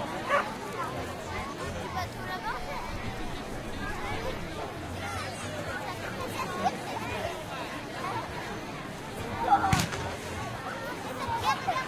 Occasional small fireworks blasts 9.7 - 10.6

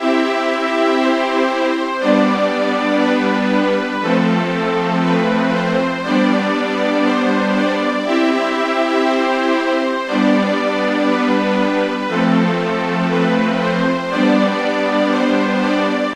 synth symphony 0.0 - 16.1

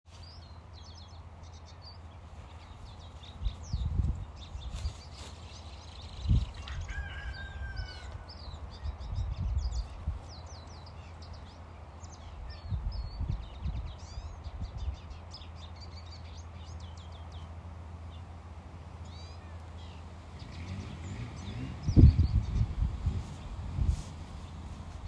birds 0.1 - 25.0
rooster 6.5 - 8.7

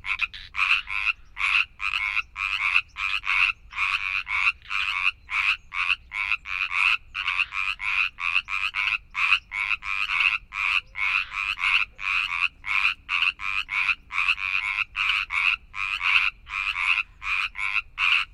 frogs 0.0 - 18.3

